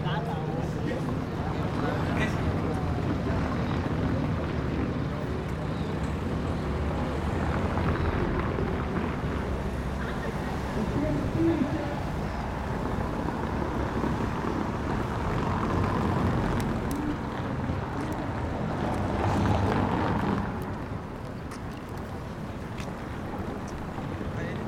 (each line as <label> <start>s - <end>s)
TRAFFIC 0.0s - 24.6s